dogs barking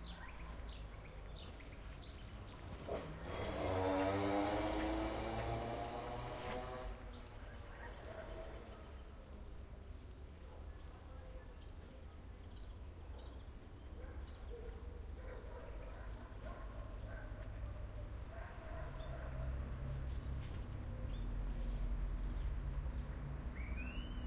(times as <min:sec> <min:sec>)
0:07.7 0:09.0, 0:13.9 0:20.0